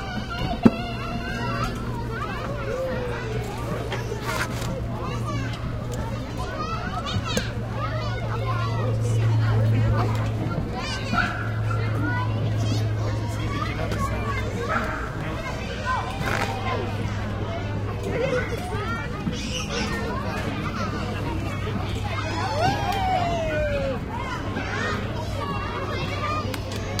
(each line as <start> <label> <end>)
0.0 Kids Playing 27.0